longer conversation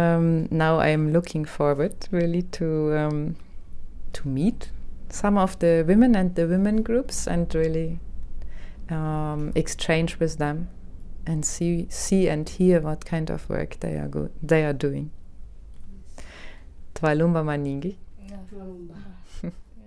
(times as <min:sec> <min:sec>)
0:18.2 0:19.8